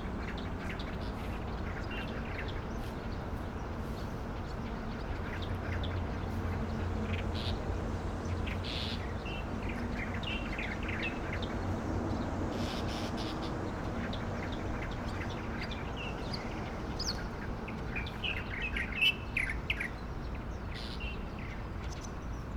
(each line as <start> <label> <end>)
0.0 Traffic Sound 22.5
0.1 Birds singing 22.5